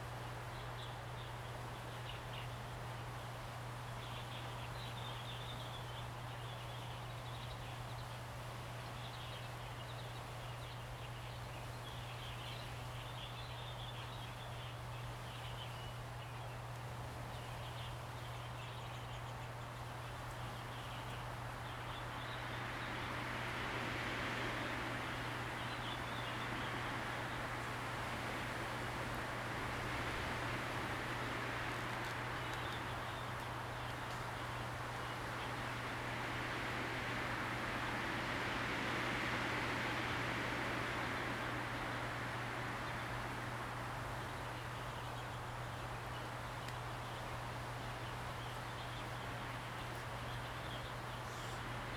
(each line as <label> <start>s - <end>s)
Wind 0.0s - 51.9s